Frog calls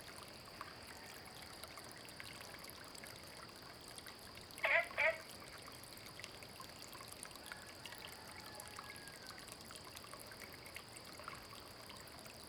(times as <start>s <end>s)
4.6s 5.3s